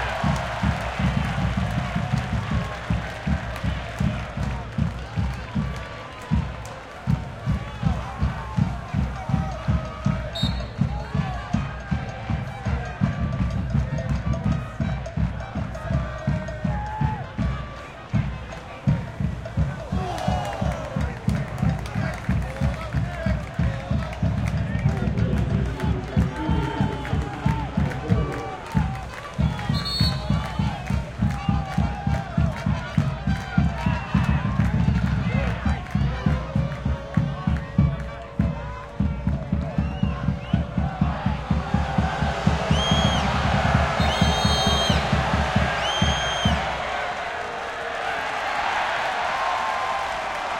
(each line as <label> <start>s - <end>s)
band 0.0s - 47.3s
drums 0.0s - 50.5s
roar of the crowd 19.0s - 33.1s
players shouting to each other 19.4s - 23.1s
players shouting to each other 24.7s - 30.8s
roar of the crowd 40.4s - 50.5s